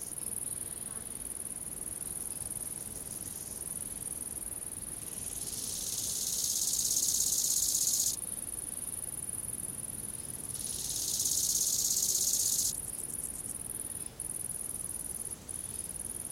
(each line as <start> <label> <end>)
5.0 grasshoppers 8.2
10.5 grasshoppers 13.2